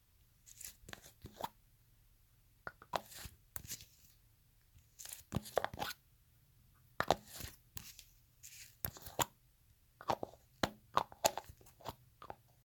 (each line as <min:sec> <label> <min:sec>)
0:05.0 opening and closing a facial-cream container 0:06.0
0:07.0 opening and closing a facial-cream container 0:09.4
0:10.0 opening and closing a facial-cream container 0:12.5